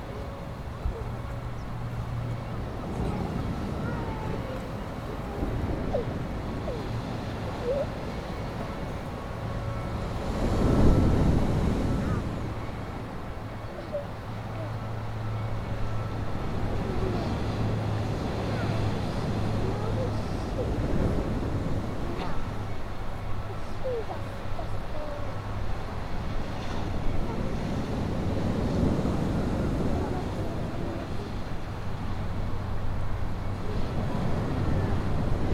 very distant sound of church bells 0.0 - 35.3
waves 0.0 - 35.5
Kid saying 2.8 - 6.1
Kid saying 18.4 - 20.8
Kid saying 22.0 - 22.5
Kid saying 23.5 - 25.4
Kid saying 29.9 - 31.5

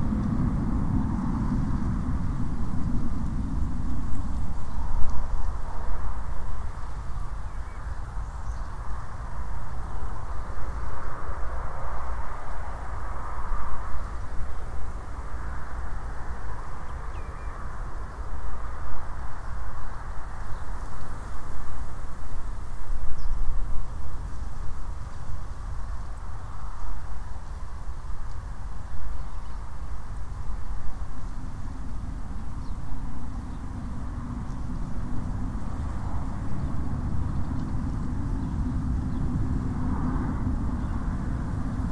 breeze blowing through the grasses and plants 0.0 - 41.9
distant planes 0.0 - 41.9
traffic 0.0 - 41.9
birds 16.4 - 18.3
birds 31.2 - 41.9

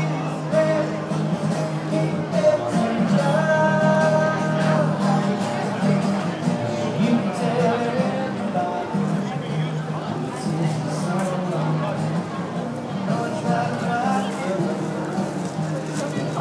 Singer 0.0 - 15.6
guitar 0.0 - 16.4
people 0.0 - 16.4

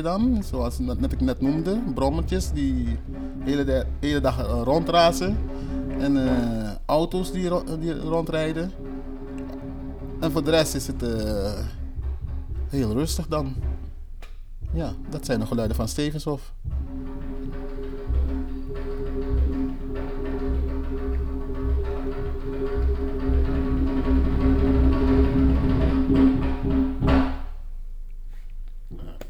jembe op achtergrond in andere ruimte 0.0 - 27.6

